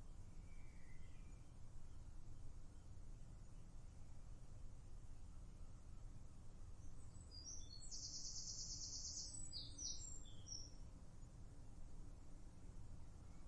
blackbird 6.8 - 10.8

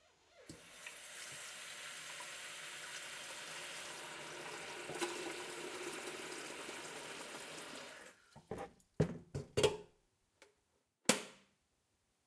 Tap Filling Kettle 0.5 - 8.6

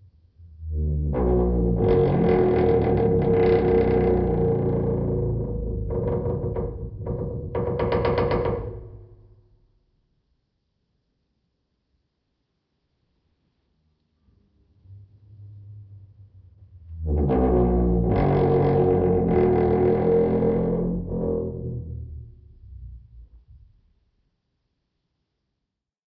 squeaky studio door 1.2 - 9.3
squeaky studio door 17.1 - 21.6

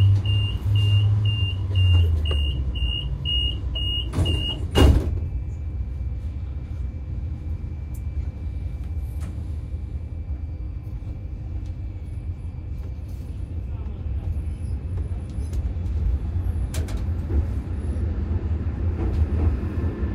passengers 0.0 - 20.1
tram 0.0 - 20.1
doors opening and closing 1.7 - 5.3

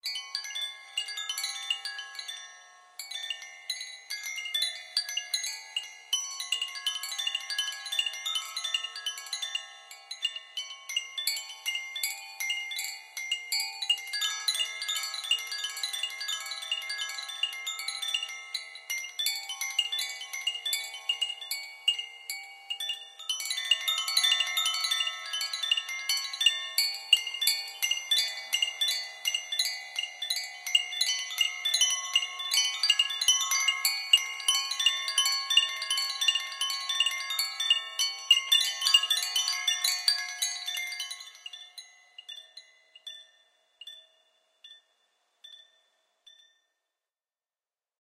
circular windchimes 0.0 - 47.0

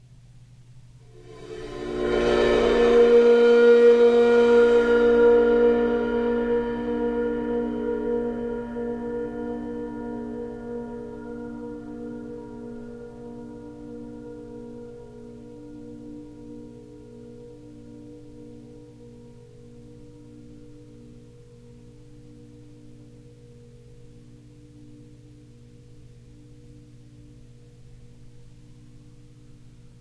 bowed cymbal swells 1.0 - 30.0

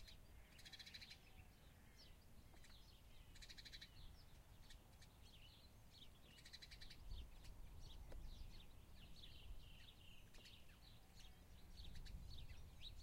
Birds 0.0 - 13.0
wind noise 11.6 - 13.0

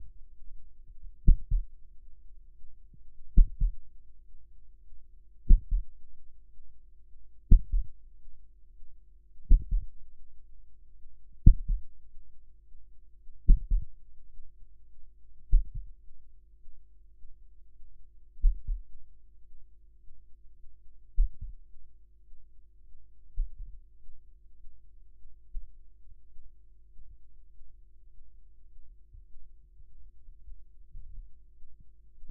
Heartbeat Stopping 1.2 - 1.7
Heartbeat Stopping 3.3 - 3.8
Heartbeat Stopping 5.4 - 5.9
Heartbeat Stopping 7.5 - 7.9
Heartbeat Stopping 9.4 - 10.0
Heartbeat Stopping 11.4 - 11.9
Heartbeat Stopping 13.4 - 14.0
Heartbeat Stopping 15.5 - 15.9
Heartbeat Stopping 18.4 - 18.9
Heartbeat Stopping 21.2 - 21.6

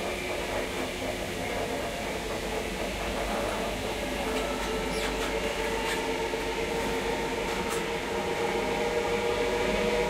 electric tilt train 0.0 - 10.0

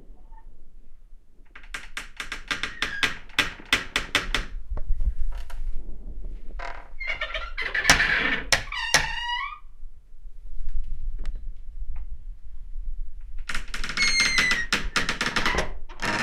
Squeaking Door 1.6 - 4.5
Squeaking Door 6.6 - 9.6
Squeaking Door 13.5 - 16.2

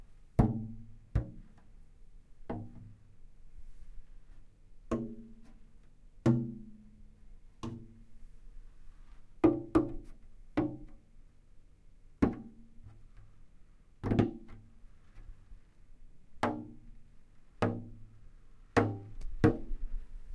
Drumming on a nearly empty water jug 18.8 - 19.8

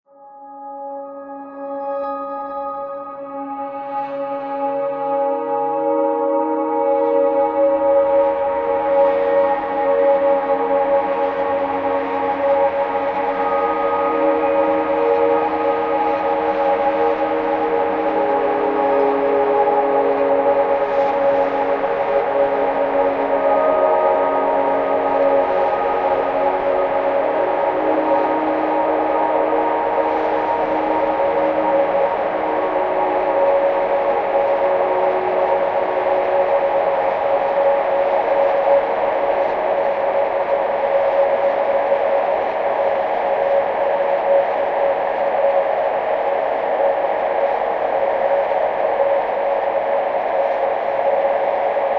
notes on a Rhodes that drowns in reverb 0.1 - 42.0

